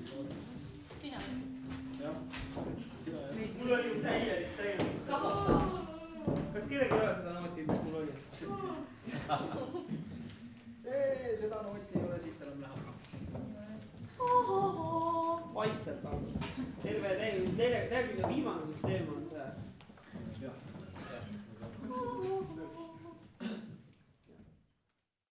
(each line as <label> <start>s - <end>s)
choire 0.0s - 6.5s
footsteps 0.0s - 24.6s
choire 14.0s - 15.6s
choire 21.6s - 23.3s